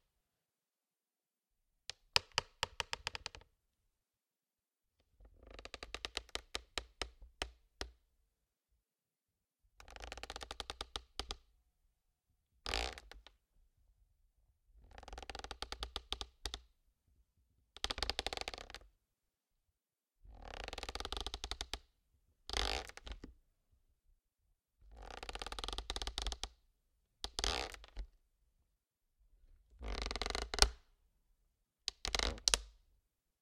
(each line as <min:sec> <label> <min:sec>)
0:12.7 Plastic Creak 0:13.2
0:22.5 Plastic Creak 0:23.2
0:27.3 Plastic Creak 0:28.0
0:29.8 Plastic Creak 0:30.8
0:32.0 Plastic Creak 0:32.6